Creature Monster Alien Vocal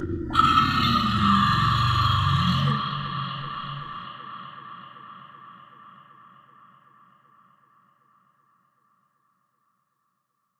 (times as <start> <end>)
0.0 5.4